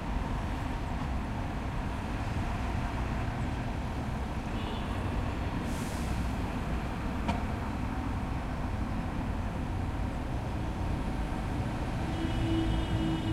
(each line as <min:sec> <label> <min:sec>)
0:00.0 City hum 0:13.3